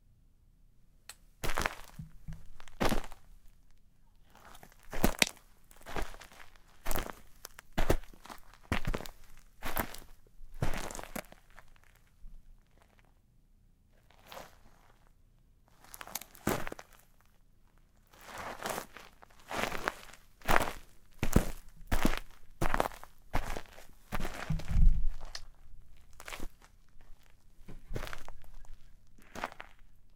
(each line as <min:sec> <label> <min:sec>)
0:01.4 footsteps boots shoes dirt gravel walk 0:03.6
0:04.3 footsteps boots shoes dirt gravel walk 0:12.0
0:15.7 footsteps boots shoes dirt gravel walk 0:17.2
0:18.1 footsteps boots shoes dirt gravel walk 0:30.0